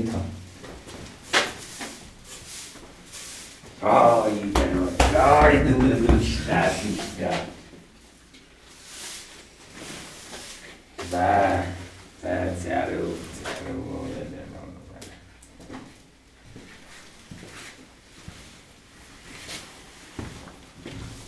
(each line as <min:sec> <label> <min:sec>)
0:03.8 Praying 0:07.6